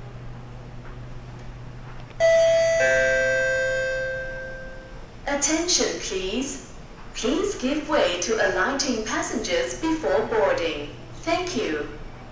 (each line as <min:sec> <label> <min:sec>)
0:02.2 ding dong 0:05.0
0:02.2 announcement 0:06.6
0:02.2 train 0:06.1
0:07.2 announcement 0:12.0